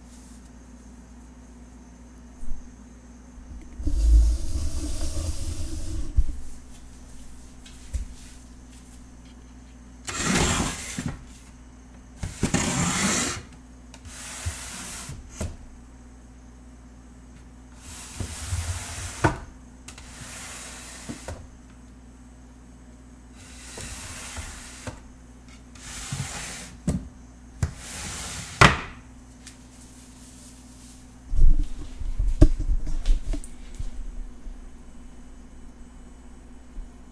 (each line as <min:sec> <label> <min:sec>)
0:03.8 Pots and pans being slid across hardwood floor 0:08.4
0:10.1 Pots and pans being slid across hardwood floor 0:11.1
0:12.4 Pots and pans being slid across hardwood floor 0:13.5
0:14.1 Pots and pans being slid across hardwood floor 0:15.2
0:17.8 Pots and pans being slid across hardwood floor 0:19.4
0:20.0 Pots and pans being slid across hardwood floor 0:21.4
0:23.4 Pots and pans being slid across hardwood floor 0:25.0
0:25.8 Pots and pans being slid across hardwood floor 0:26.8
0:27.7 Pots and pans being slid across hardwood floor 0:28.7